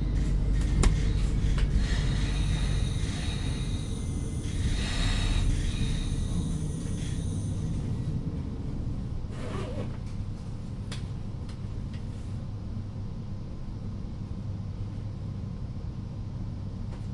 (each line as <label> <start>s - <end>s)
local train stops 0.0s - 10.2s